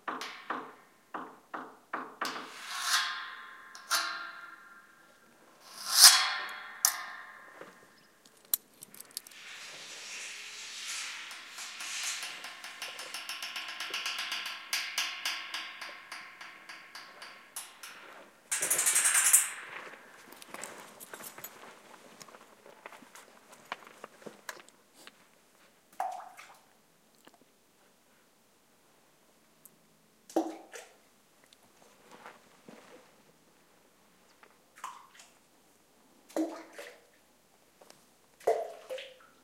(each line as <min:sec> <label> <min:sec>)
0:06.8 pebbles fall to still water 0:14.1
0:19.7 someone walks on gravel 0:25.7